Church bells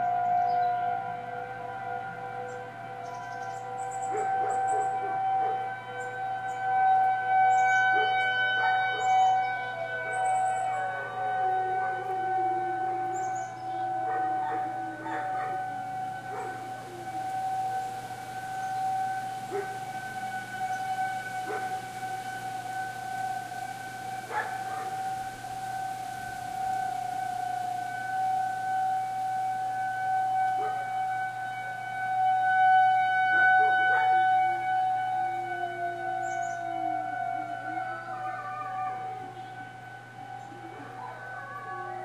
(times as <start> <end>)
14.0 22.6, 23.4 27.8, 30.5 31.1, 32.6 42.0